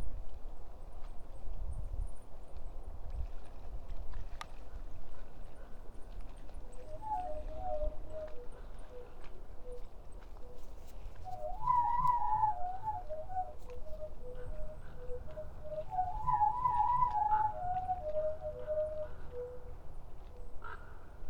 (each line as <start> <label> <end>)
20.6 crow 21.1